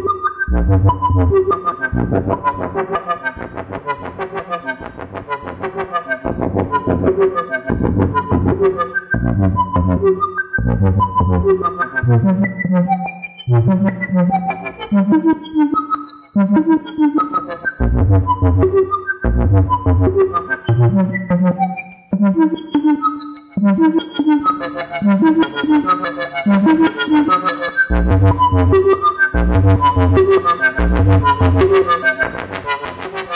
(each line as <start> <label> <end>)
0.0 Two VCOs and a moog filter clone being sequenced 33.3